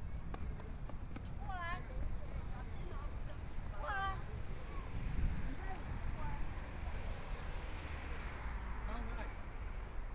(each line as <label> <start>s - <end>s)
A lot of people in the street 0.0s - 10.1s